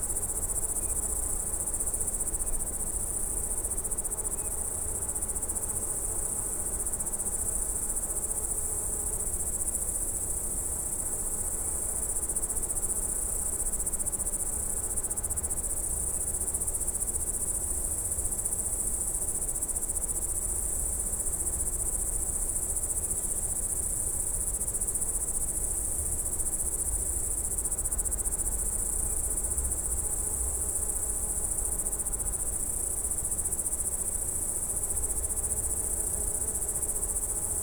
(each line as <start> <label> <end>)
0.0 crickets 37.6
34.6 bees from nearby small beehive 37.6